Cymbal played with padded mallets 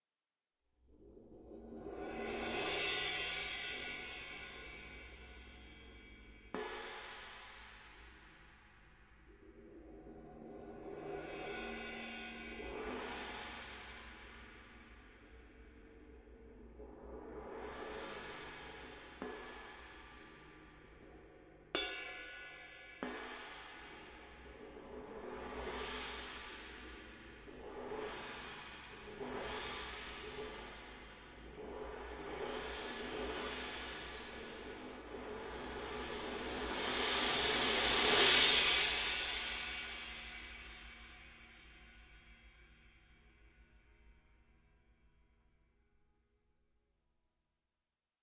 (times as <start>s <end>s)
21.8s 41.7s